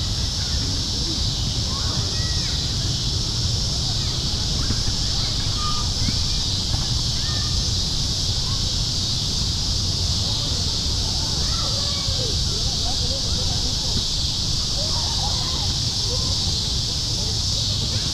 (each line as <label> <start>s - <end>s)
Cicada Swarm 0.0s - 18.1s
traffic 0.0s - 18.1s
soccer game 4.0s - 7.6s